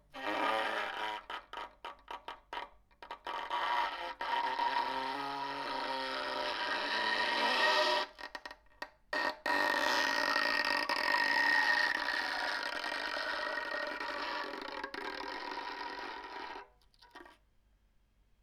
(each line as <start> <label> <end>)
9.5 Bowing broken violin string 17.4